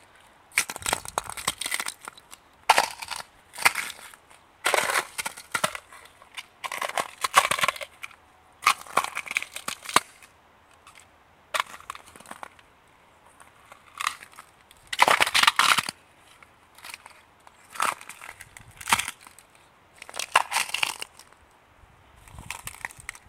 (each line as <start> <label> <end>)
0.5 ice crack 10.3
13.7 ice crack 21.4
22.4 ice crack 23.2